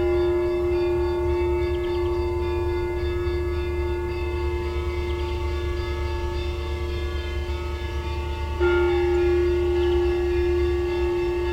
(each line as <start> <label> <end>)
0.0 bells near the house 11.5